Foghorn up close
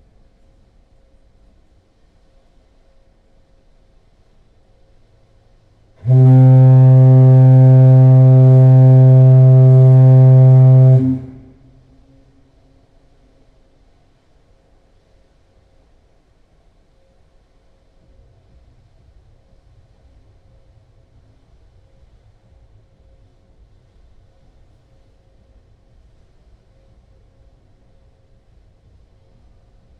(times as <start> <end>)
6.0 12.4